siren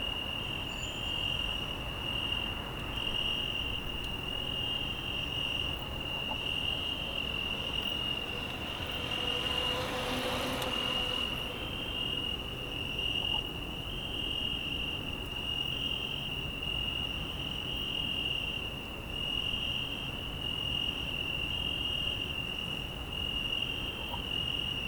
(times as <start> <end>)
3.3 12.7